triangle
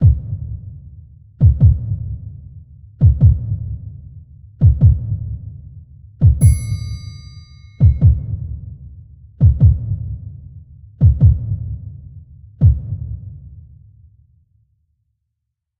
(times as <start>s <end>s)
6.4s 8.3s